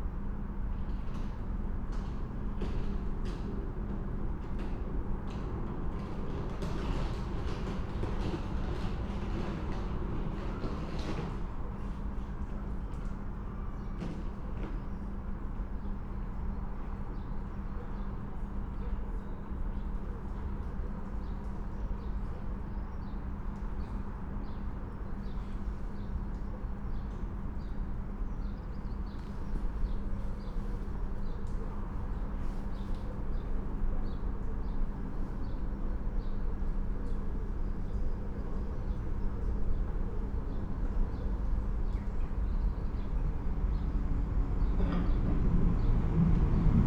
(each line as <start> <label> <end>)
0.2 train arrives 16.1
24.2 train arrives 46.8